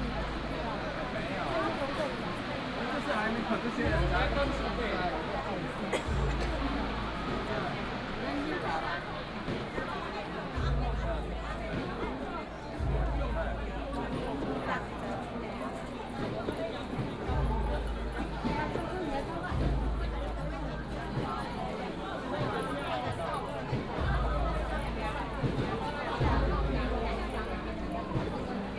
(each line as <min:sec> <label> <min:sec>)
0:00.0 people crowded in the alley 0:28.7